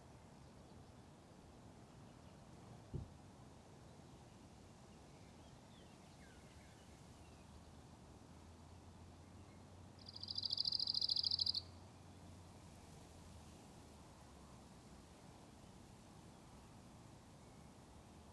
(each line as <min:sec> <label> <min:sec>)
0:10.1 Shy Bird 0:11.6